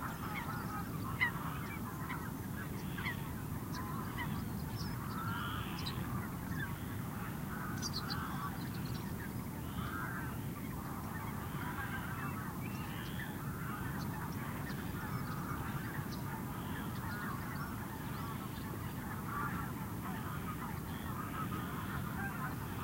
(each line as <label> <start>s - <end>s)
calls from birds 0.0s - 22.8s